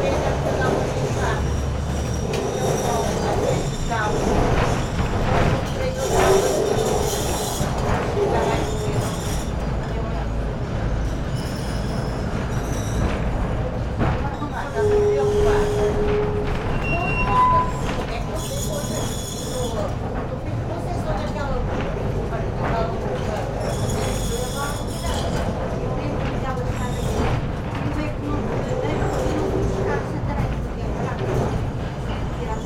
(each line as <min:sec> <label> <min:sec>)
0:00.0 people waiting for departure 0:32.6
0:00.0 tram climbs up this very steeply part of the street 0:32.6